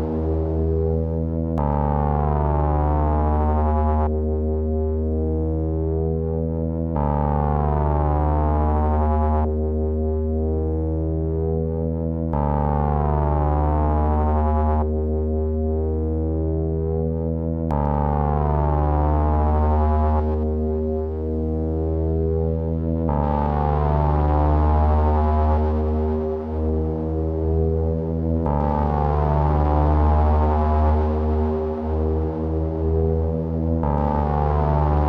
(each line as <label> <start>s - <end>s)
vintage analog synth drone 0.0s - 35.0s